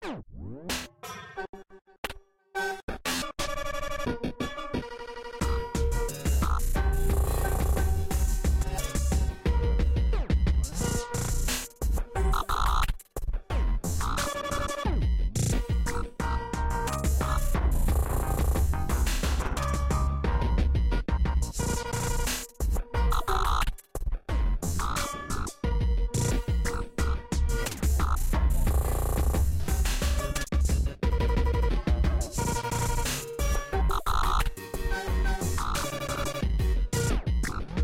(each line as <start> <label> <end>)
5.4 glitch channels 9.2
12.2 glitch channels 13.0
16.9 glitch channels 19.8
23.0 glitch channels 23.8
24.7 glitch channels 25.6
26.2 glitch channels 30.6
32.3 glitch channels 37.8